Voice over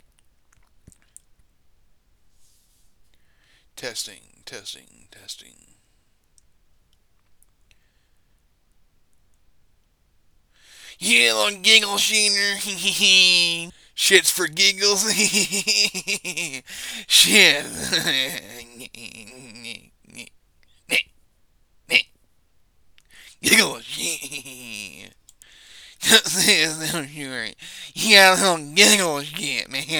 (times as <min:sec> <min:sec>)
0:10.8 0:20.3, 0:23.2 0:25.1, 0:26.0 0:29.9